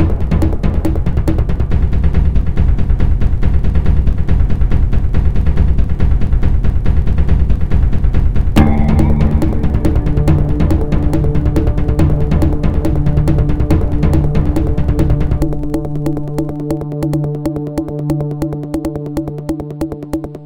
0.0s bassdrum acoustic 17.3s
0.0s bass 20.4s
8.6s stringpad 17.9s

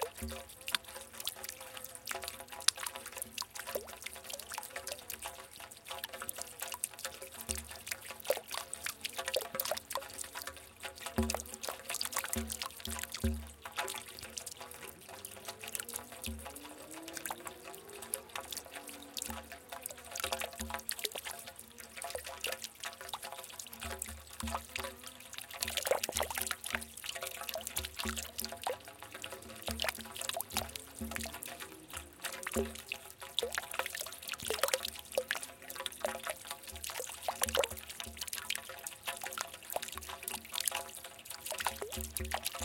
0.0s Irregular, Low Frequency Dropping Water 42.6s

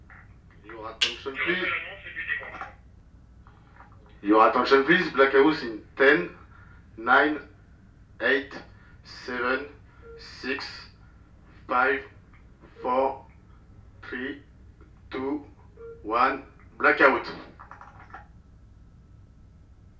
1.0s Blackout Announcement 2.7s

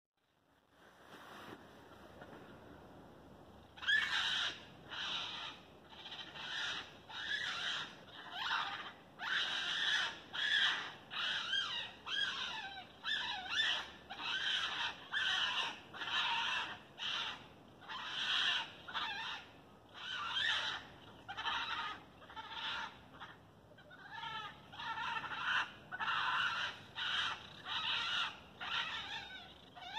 3.7s angry raccoon or two 29.9s

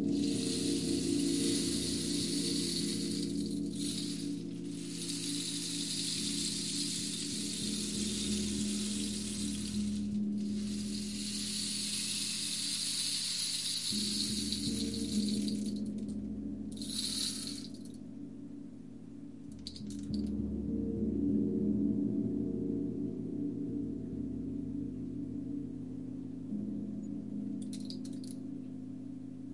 0.0s Gong 17.8s
0.0s Rainstick 18.0s
19.5s Rainstick 20.3s
27.6s Rainstick 28.4s

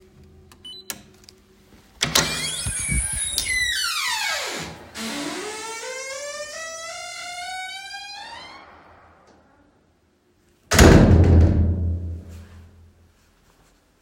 2.0s creak of the door closing on the shutter 9.7s
3.6s reverberant 'slam' of the door itself closing 9.9s
10.7s reverberant 'slam' of the door itself closing 12.5s

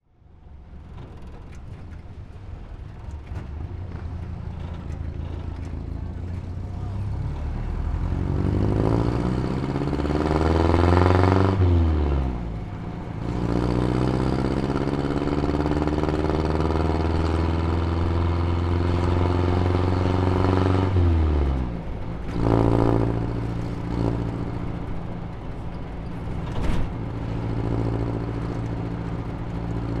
0.0s other vehicles on the road 30.0s
0.2s motorcycles 30.0s

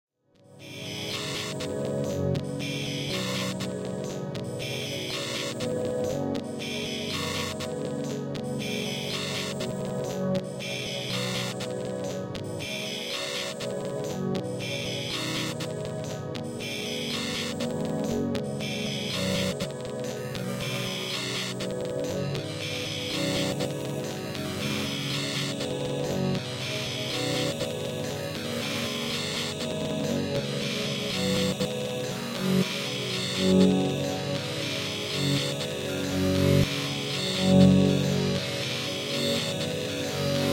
0.6s drone 40.5s

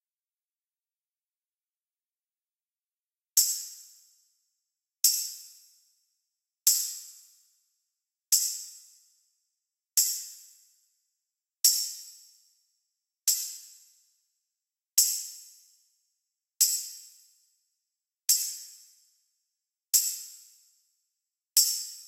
3.4s tambourines 4.3s
5.0s tambourines 5.9s
6.7s tambourines 7.6s
8.3s tambourines 9.2s
10.0s tambourines 10.8s
11.6s tambourines 12.7s
13.3s tambourines 14.2s
15.0s tambourines 16.0s
16.6s tambourines 17.6s
18.3s tambourines 19.3s
20.0s tambourines 21.0s
21.6s tambourines 22.0s

